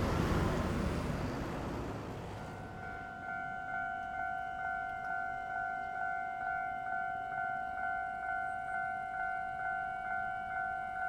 0.0s Traffic Sound 3.0s
0.0s Trains traveling through 11.0s

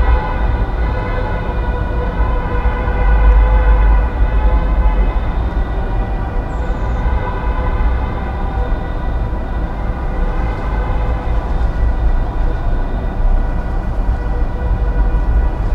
0.0s traffic jam 15.7s

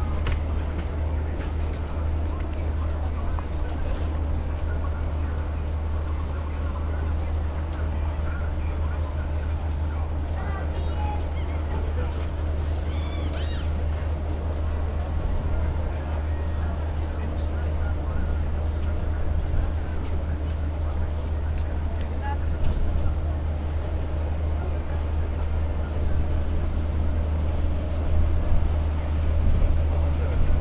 0.0s departure of ship 30.6s

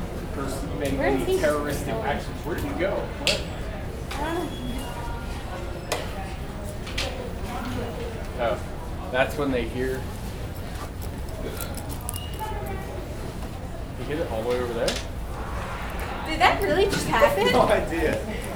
15.0s chatter 18.5s

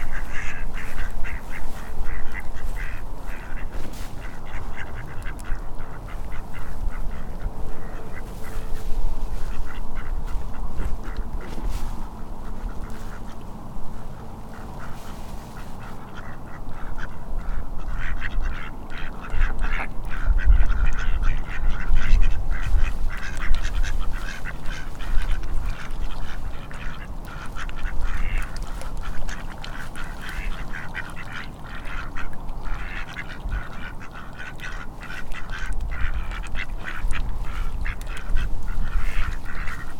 0.0s Chatty Ducks 39.9s

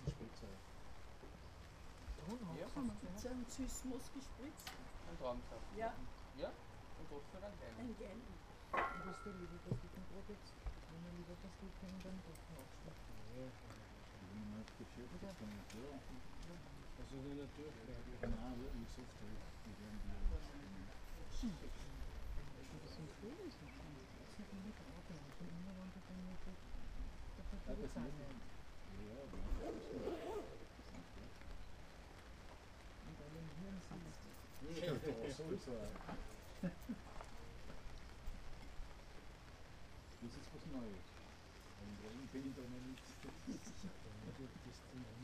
0.0s human voices talking to each other leisurely 45.2s

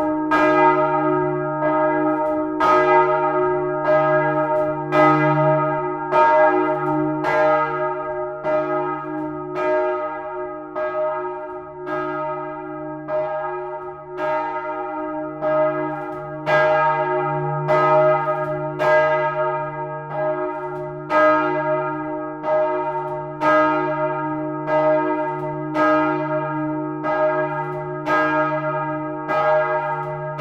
0.0s single bells each recorded seperately 30.4s

